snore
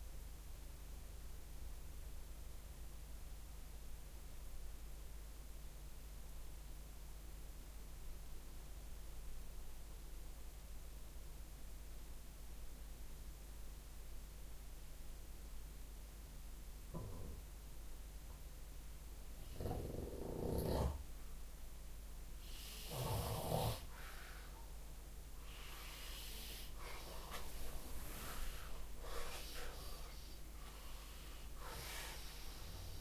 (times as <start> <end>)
19.4 21.0, 22.4 24.2, 28.2 33.0